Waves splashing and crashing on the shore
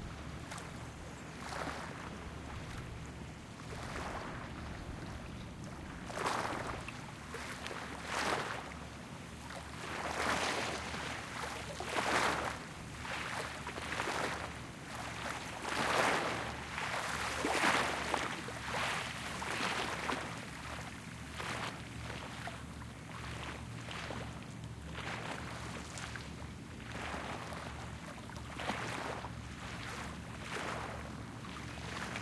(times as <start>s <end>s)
3.6s 5.2s, 5.8s 22.6s